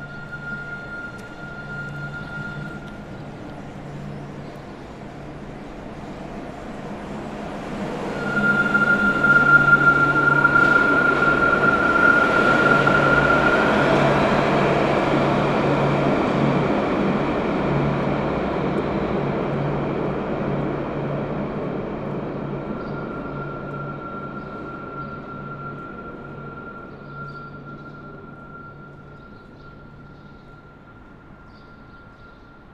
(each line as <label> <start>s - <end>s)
Tramway 0.0s - 32.7s